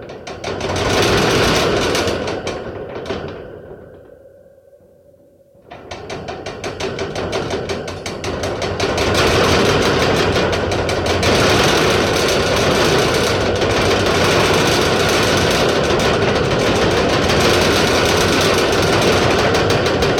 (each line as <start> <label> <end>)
5.7 metal cage shaking 20.1